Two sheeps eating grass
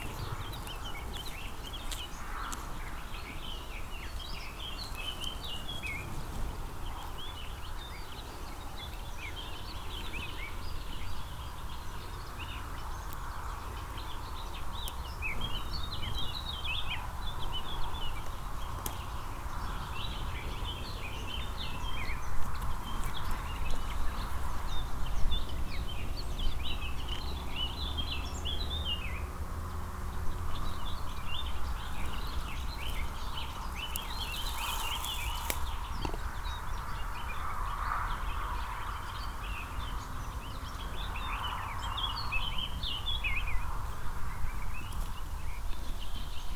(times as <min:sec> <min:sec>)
0:00.0 0:10.4, 0:29.2 0:36.3